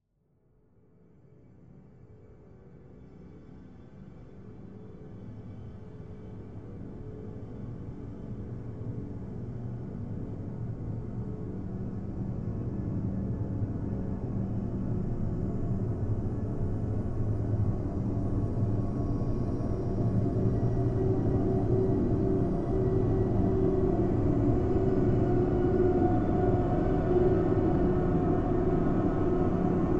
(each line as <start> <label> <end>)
17.0 drone 29.9